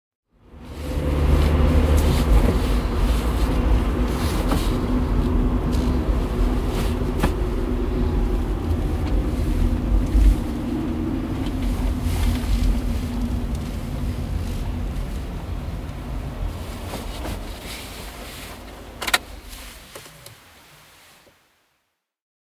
Car arrival and stop 0.4 - 21.4
ignition off 17.2 - 20.4

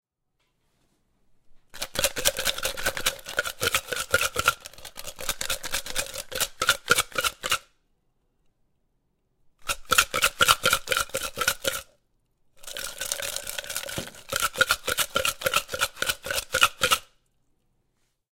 Shaking Tumbler with Ice 1.7 - 7.7
Shaking Tumbler with Ice 9.6 - 11.9
Shaking Tumbler with Ice 12.6 - 17.1

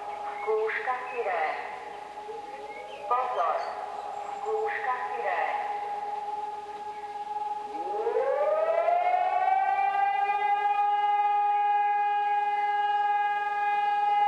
siren 0.0 - 14.2
windy 0.0 - 14.2

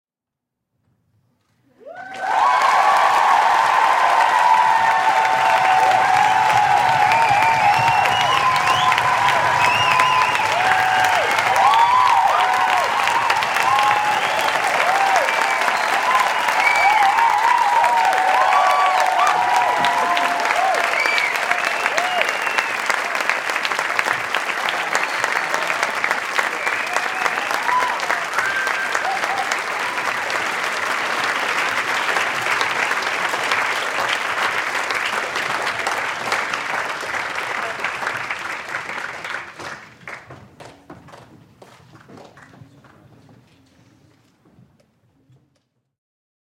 cheering 1.7 - 40.4
Applause, huge, thunderous 1.8 - 43.2

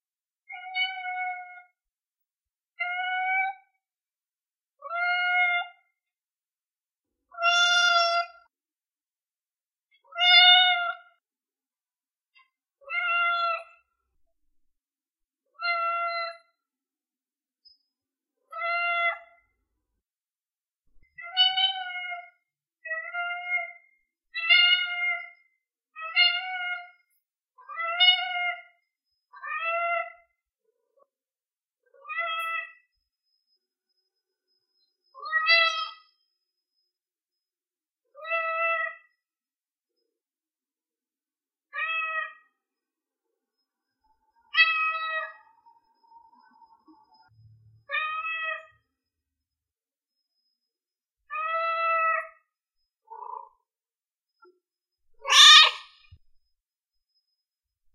Little kitten asking for attention meowing 55.2 - 55.8

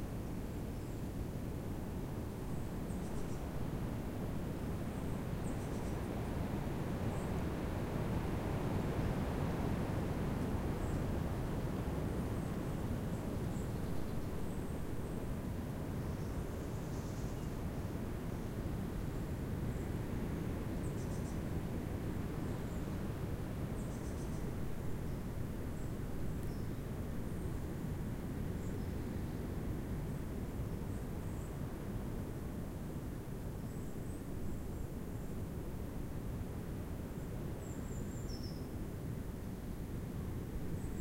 wind through trees 0.0 - 41.0

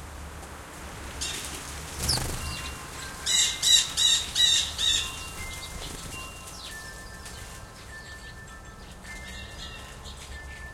Wing flaps flying many bird feeder sparrows 1.2 - 7.8

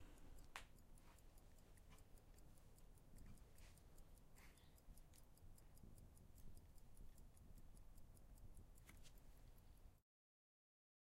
Old pocket watch ticking 0.0 - 10.0

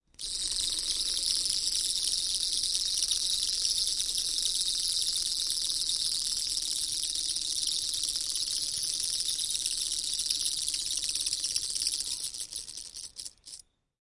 vibrating wind up toy 0.1 - 13.6

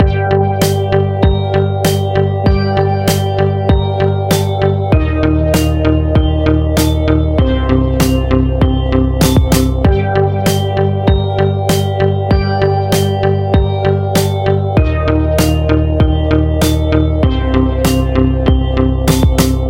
bass 0.0 - 19.6
synth 0.0 - 19.6
bell 0.9 - 19.6
snare 19.1 - 19.6

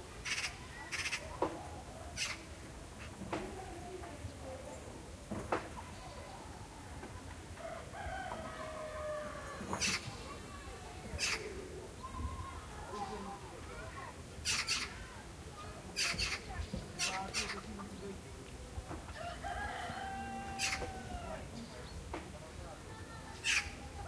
villagers go about their business, talking outside 0.0 - 24.0
occasional rooster 7.6 - 10.1
occasional rooster 19.1 - 21.5
Crows 19.1 - 21.4

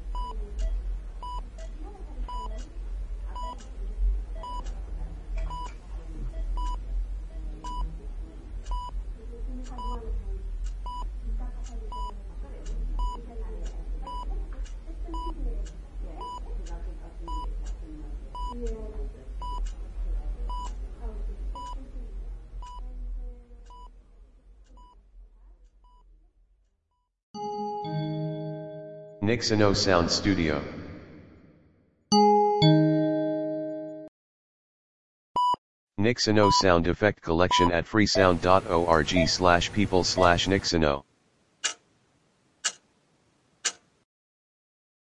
heart beep 0.1 - 1.7
clock tic tac 0.2 - 2.7
heart beep 2.3 - 2.6
heart beep 4.4 - 4.6
clock tic tac 4.4 - 4.8
heart beep 5.4 - 5.7
heart beep 6.3 - 7.9
clock tic tac 6.6 - 6.8
heart beep 8.7 - 9.0
clock tic tac 9.6 - 17.8
heart beep 10.8 - 11.1
heart beep 11.9 - 12.2
heart beep 13.0 - 13.2
heart beep 14.1 - 14.3
heart beep 16.2 - 16.4
heart beep 17.3 - 17.5
heart beep 18.4 - 18.6
heart beep 19.4 - 19.6
clock tic tac 19.4 - 19.8
heart beep 20.5 - 20.8
heart beep 21.5 - 21.8
heart beep 22.6 - 22.8
heart check print 35.4 - 41.0
clock tic tac 36.3 - 41.0
pager and tone 37.4 - 40.9
heart beep 37.5 - 37.7
clock tic tac 41.6 - 41.9
clock tic tac 42.6 - 42.9
clock tic tac 43.6 - 43.9

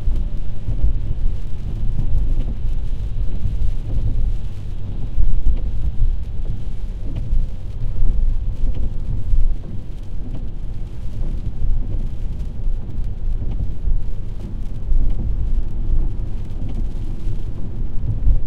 driving car 0.0 - 18.4
rain 0.0 - 18.4
windshield wipers 0.1 - 18.4

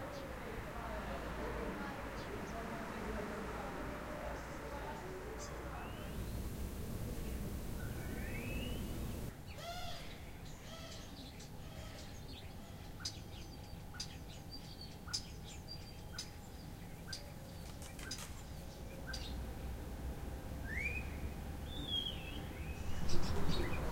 traffic 0.0 - 9.5
birds 0.0 - 20.0
traffic 10.3 - 23.9
birds 20.6 - 23.9

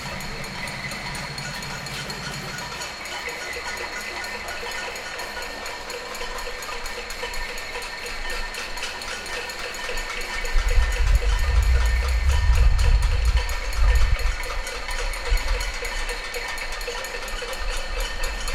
wind noise 10.4 - 16.2

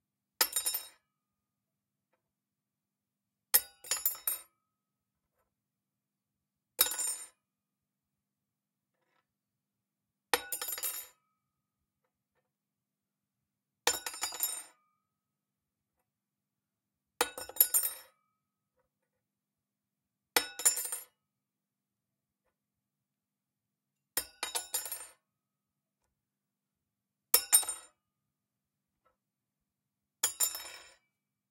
Cutlery Fork Knife Spoon Metal Dropped On Floor 0.4 - 1.0
Cutlery Fork Knife Spoon Metal Dropped On Floor 24.2 - 25.2
Cutlery Fork Knife Spoon Metal Dropped On Floor 27.4 - 27.9
Cutlery Fork Knife Spoon Metal Dropped On Floor 30.2 - 31.1

